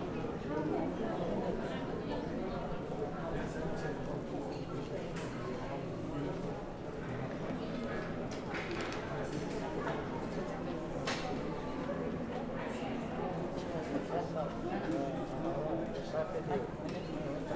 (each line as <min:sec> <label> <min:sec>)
0:00.0 travellers to Turkey gathered and are audible 0:17.5